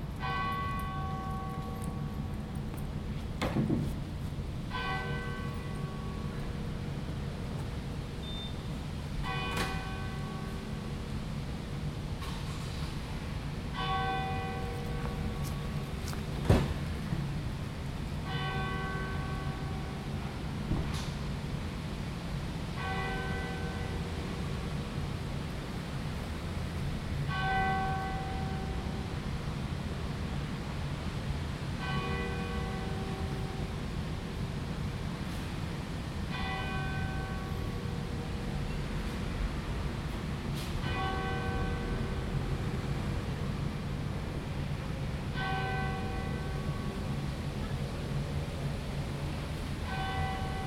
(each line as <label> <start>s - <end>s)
Prayer Bell 0.0s - 3.2s
Prayer Bell 4.6s - 11.1s
Prayer Bell 13.7s - 16.2s
Prayer Bell 18.2s - 20.5s
Prayer Bell 22.7s - 25.1s
Prayer Bell 27.2s - 29.4s
Prayer Bell 31.8s - 34.4s
Prayer Bell 36.3s - 39.2s
Prayer Bell 40.7s - 42.8s
Prayer Bell 45.3s - 47.8s
Prayer Bell 49.8s - 50.6s